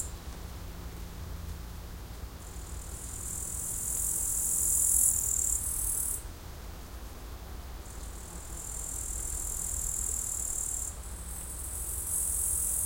insects 0:00.0 - 0:12.8
Bush crickets (katudids) chirping 0:02.6 - 0:06.2
Bush crickets (katudids) chirping 0:07.8 - 0:12.8

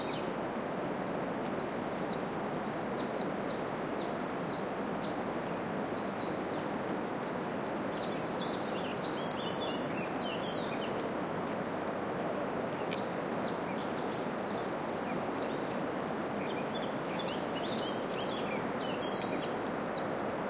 bird tweets 0:01.1 - 0:05.2
bird tweets 0:06.0 - 0:11.0
bird tweets 0:12.6 - 0:20.4

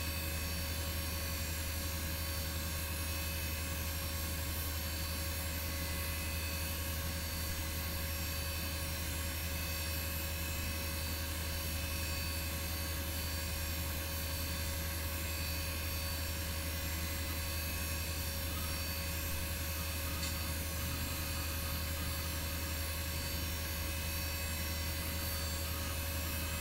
CPU fan 0:00.0 - 0:26.6
PSU fan 0:00.0 - 0:26.6
3.5 floppy drive 0:17.2 - 0:26.6

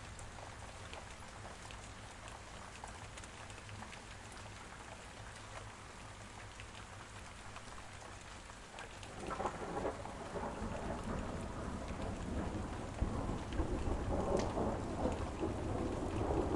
Rain 0:00.0 - 0:16.5
Thunder 0:09.1 - 0:16.5

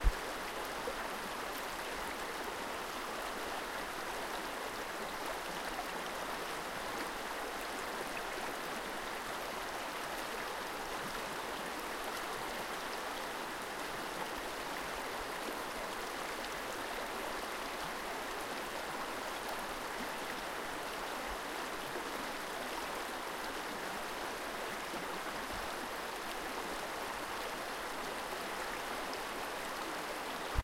stream 0:00.0 - 0:30.6

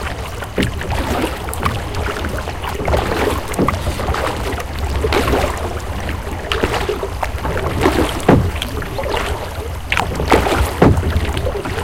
boat launching into the sea 0:00.0 - 0:11.8
sailors rowing 0:00.0 - 0:11.8
sea 0:00.0 - 0:11.8
Boat dropping anchor 0:07.4 - 0:11.8

